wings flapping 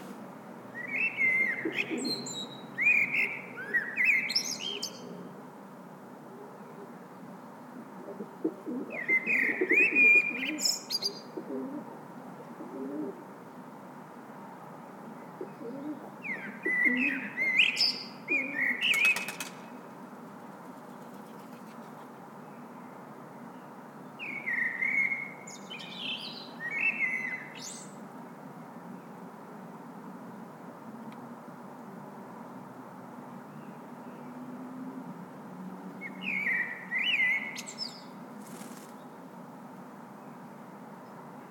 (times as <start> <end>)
18.9 19.8, 20.6 22.1, 38.4 39.0